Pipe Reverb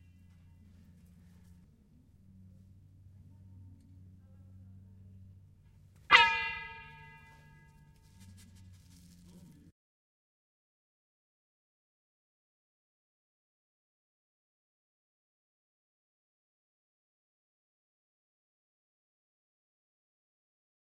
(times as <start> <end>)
4.2 9.1